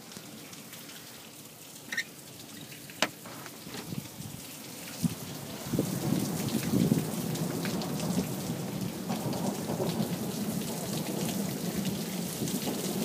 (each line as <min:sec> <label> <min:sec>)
0:00.0 rain splashing 0:13.0
0:03.0 creeking door 0:03.9
0:12.1 Thunder 0:13.0